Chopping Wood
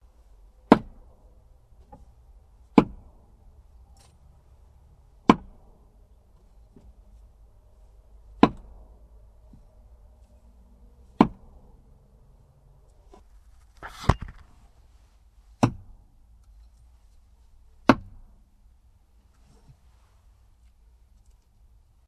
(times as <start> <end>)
0.7 1.0, 2.7 3.1, 5.2 5.7, 8.4 8.8, 11.2 11.6, 15.6 16.0, 17.8 18.2